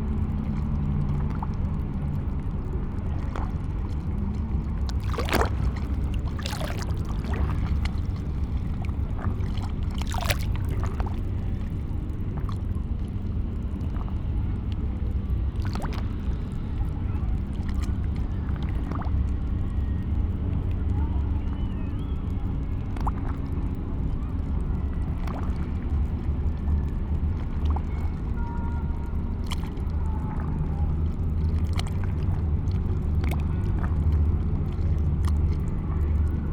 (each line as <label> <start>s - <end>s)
gentle waves 0.0s - 36.5s